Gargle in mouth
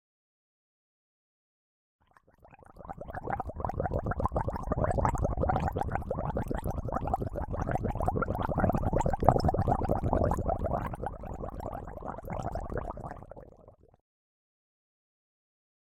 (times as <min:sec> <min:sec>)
0:02.4 0:13.9